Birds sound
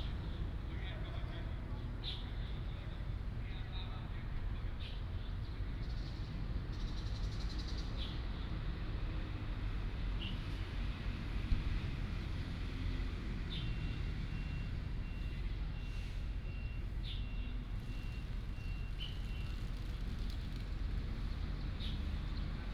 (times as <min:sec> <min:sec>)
0:02.0 0:02.6, 0:13.5 0:14.0, 0:16.4 0:22.7